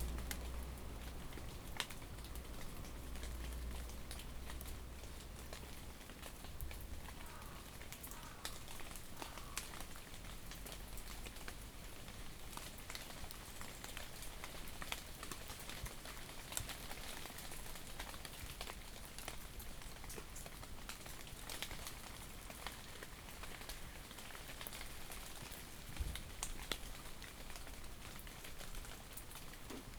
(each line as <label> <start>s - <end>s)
bus park near the town hall and leave its engine on 0.0s - 6.5s
Slight rain 0.0s - 29.9s